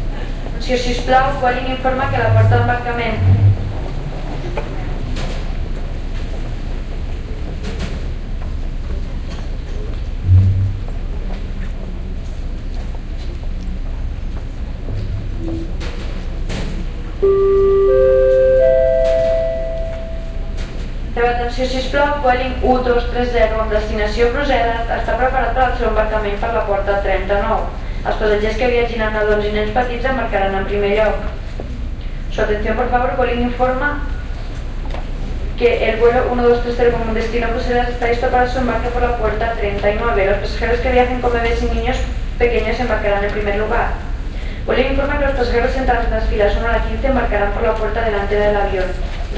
female flight attendant makes an announcement 0:00.6 - 0:03.8
female flight attendant makes an announcement 0:21.1 - 0:31.4
female flight attendant makes an announcement 0:32.3 - 0:34.2
female flight attendant makes an announcement 0:35.5 - 0:49.3

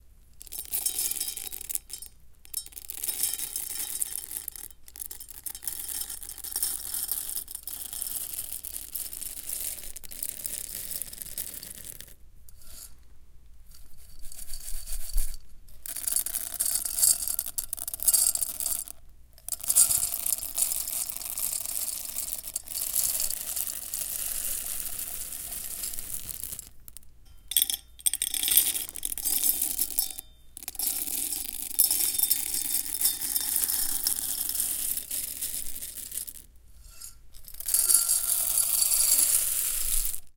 Sunflower seed pour 0:00.4 - 0:12.1
Sunflower seed pour 0:19.5 - 0:27.0
Sunflower seed pour 0:30.6 - 0:36.5
Sunflower seed pour 0:37.5 - 0:40.3

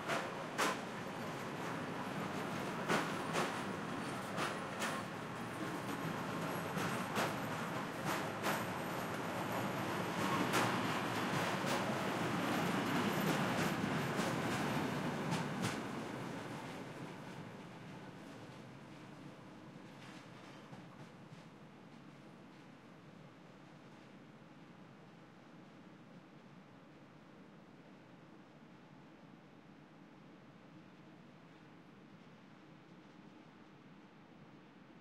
Train passing by 0:00.0 - 0:22.7

